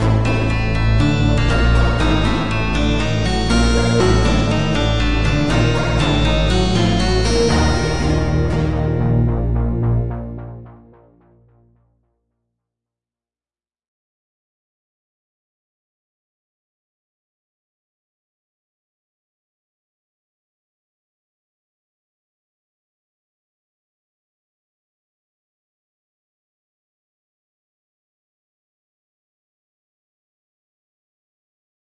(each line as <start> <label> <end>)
0.0 melody 10.9